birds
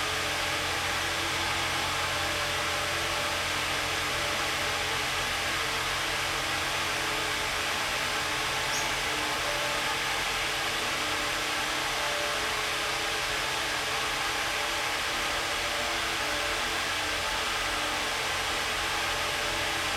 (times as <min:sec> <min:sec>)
0:08.7 0:09.1